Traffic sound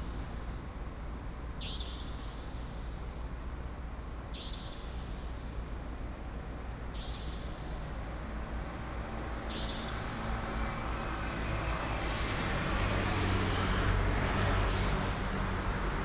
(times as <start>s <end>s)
8.2s 16.0s